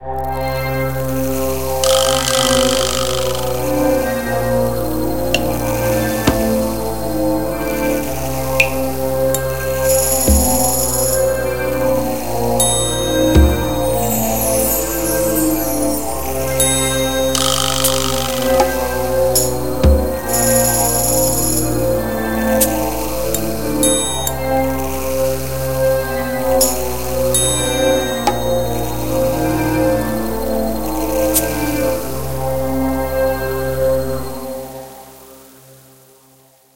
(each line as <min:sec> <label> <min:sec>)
0:00.2 thriller music 0:33.1